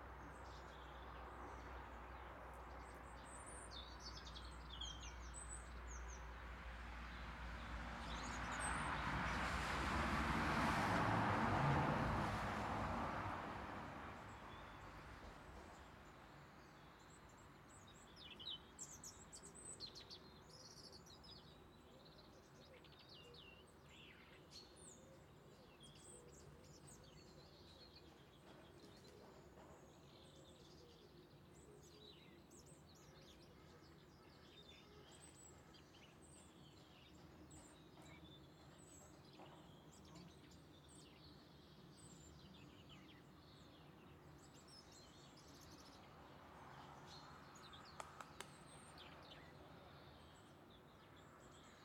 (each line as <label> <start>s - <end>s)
car passes away 8.6s - 14.0s